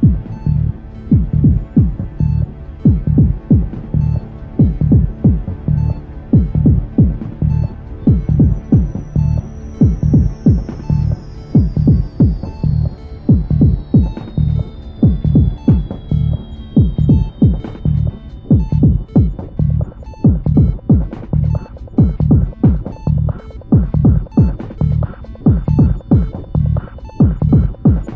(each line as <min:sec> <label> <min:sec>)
0:00.0 arpegiator 0:28.1